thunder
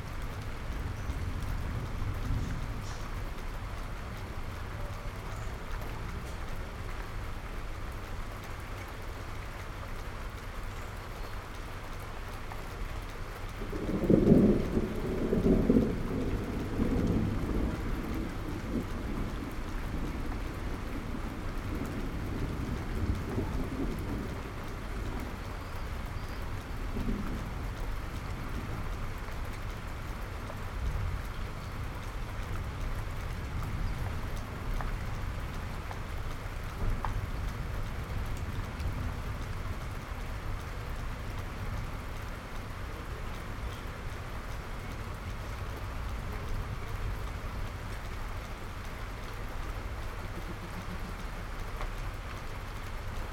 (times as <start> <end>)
1.2 3.1, 13.7 24.6